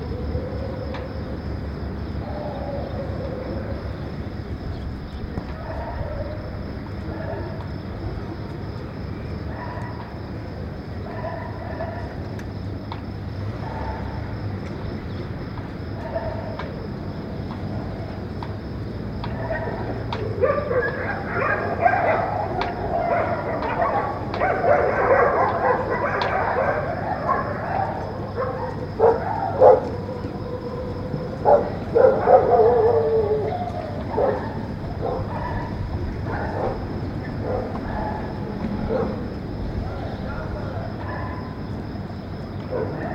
distant dog fight 0:00.0 - 0:43.1

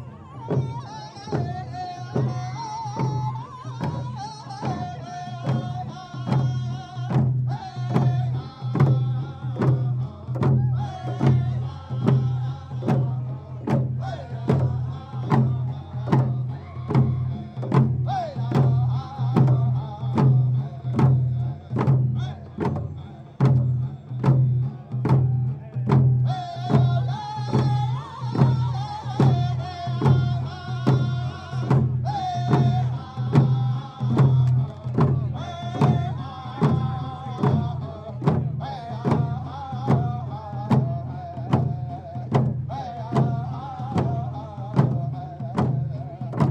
drum circle 0:00.0 - 0:46.5

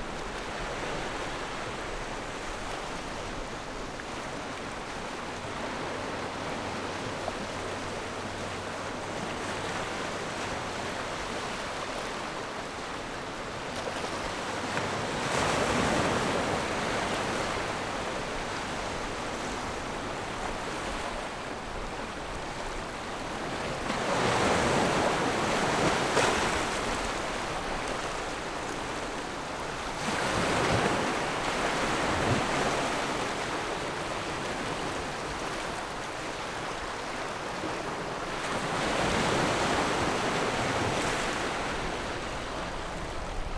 waves 0:00.0 - 0:43.5

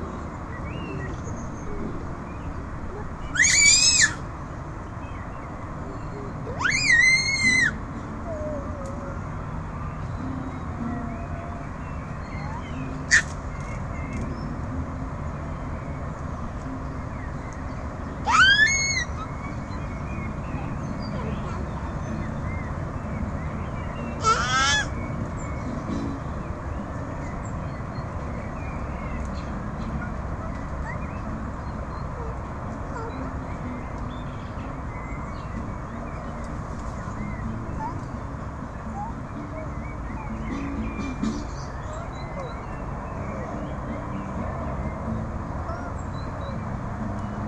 birds 0:00.0 - 0:47.4

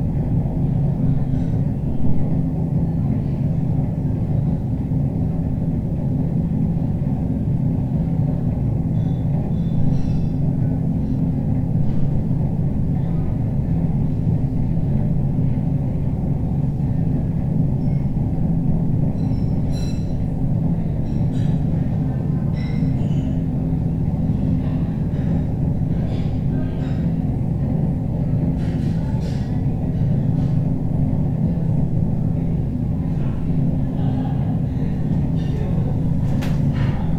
very noisy air outlet 0:34.4 - 0:37.1

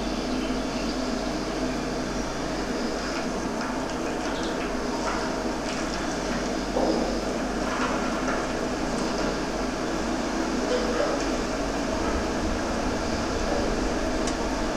factory resonating through a drainpipe 0:00.0 - 0:14.7

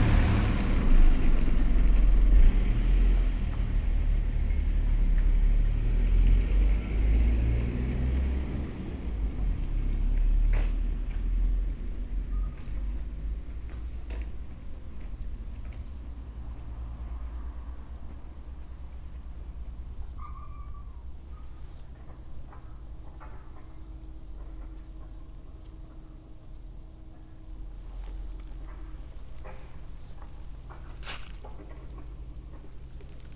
cars 0:00.0 - 0:33.3
passer by 0:00.0 - 0:33.3
dry leaves 0:27.4 - 0:33.3

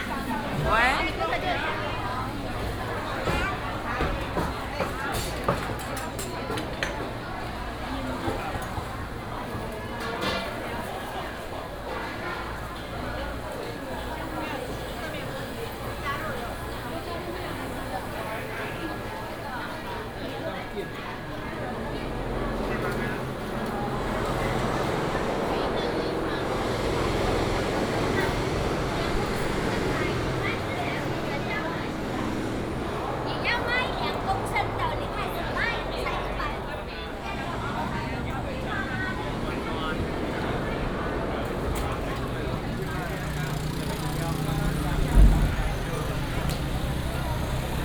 Traffic sound 0:00.0 - 0:47.8
Walking through the market 0:00.0 - 0:47.8

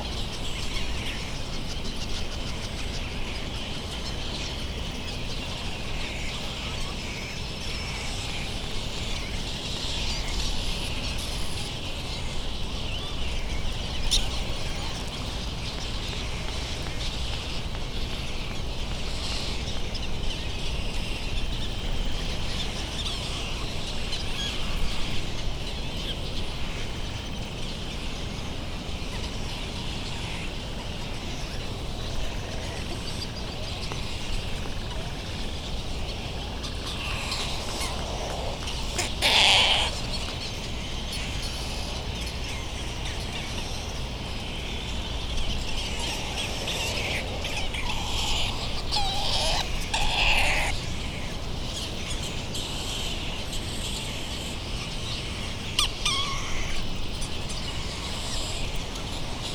white terns 0:00.0 - 0:59.5
wind thru iron wood trees 0:00.0 - 0:59.5
bird calls from laysan albatross 0:37.0 - 0:40.3
bird calls from laysan albatross 0:46.8 - 0:50.8

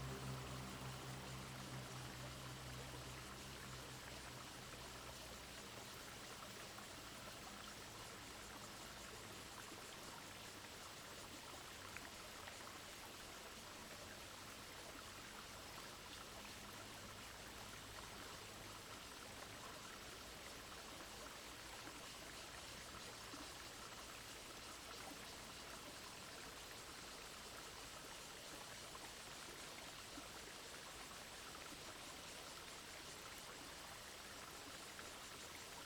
Cicadas sound 0:00.0 - 0:12.2
water streams 0:00.0 - 0:35.8

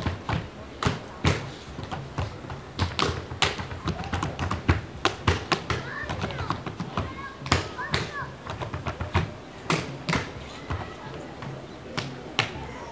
Tap dancing in the park 0:00.0 - 0:12.9

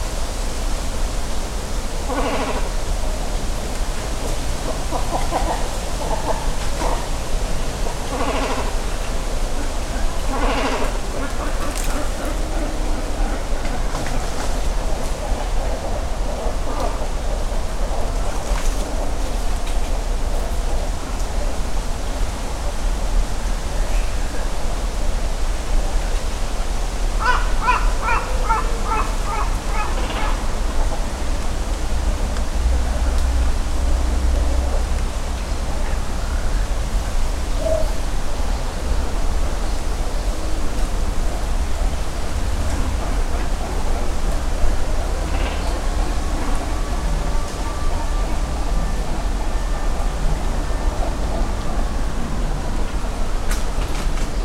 Great cormorant colony 0:02.0 - 0:03.0
Great cormorant colony 0:04.6 - 0:19.4
Great cormorant colony 0:27.1 - 0:31.3
Great cormorant colony 0:41.3 - 0:52.6

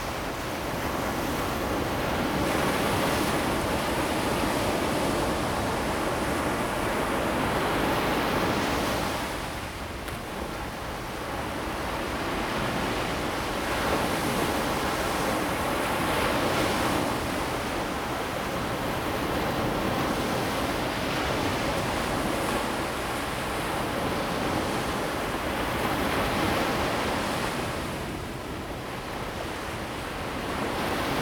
waves 0:00.0 - 0:31.2

